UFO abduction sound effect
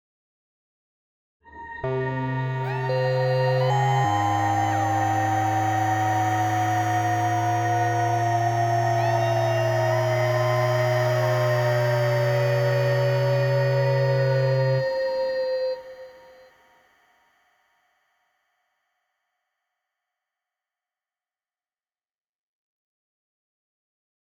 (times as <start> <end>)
1.7 16.4